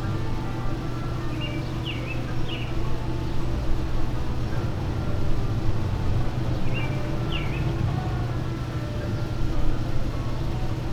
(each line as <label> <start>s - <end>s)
music from street musicians 0.0s - 10.9s
traffic sounds 3.2s - 10.9s